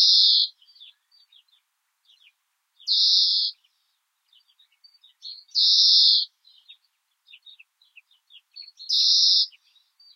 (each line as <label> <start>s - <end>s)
birds 0.0s - 10.1s